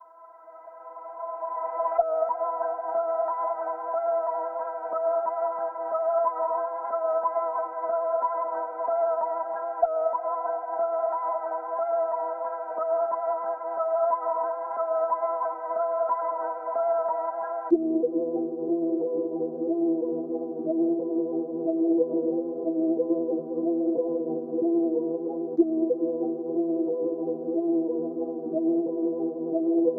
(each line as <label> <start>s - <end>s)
synth 0.7s - 29.9s